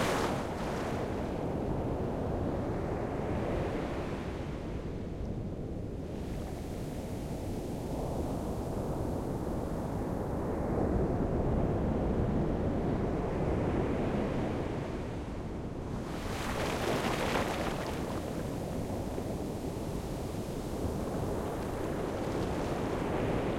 Waves break 0.0 - 1.2
Waves break 16.1 - 23.5
sea foam fizzes 16.2 - 20.6
water breaking around my calves 16.4 - 18.5
sea foam fizzes 21.2 - 23.1

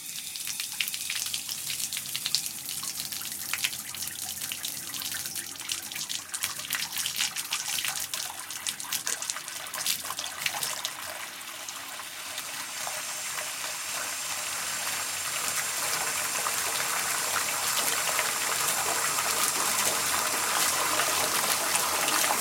close second water tap 0.0 - 22.4
residual water leaving the water tap 0.0 - 22.4

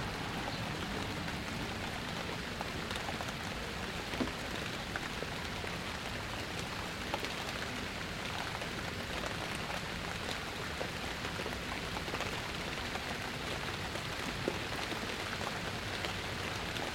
Soft rain 0.0 - 16.9

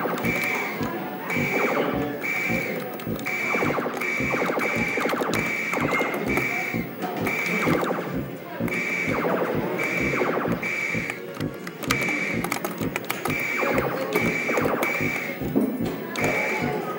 Space Invaders arcade game 0.0 - 16.9
buttons 0.0 - 16.9
joystick 0.0 - 16.9

